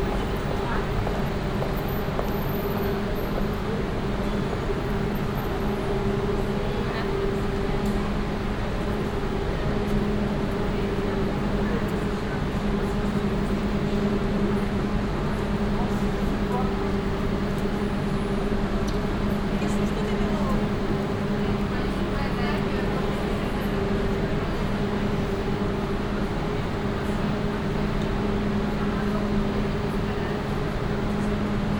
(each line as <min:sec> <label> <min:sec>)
0:00.0 constant moor sound of a waiting train 0:31.7
0:00.0 train arrives 0:31.7